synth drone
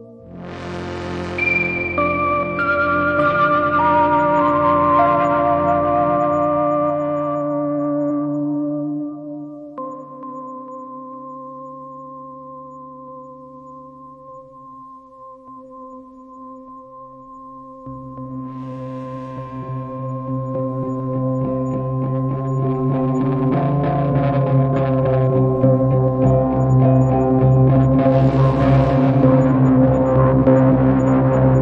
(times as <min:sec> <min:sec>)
0:00.0 0:07.7, 0:17.9 0:31.6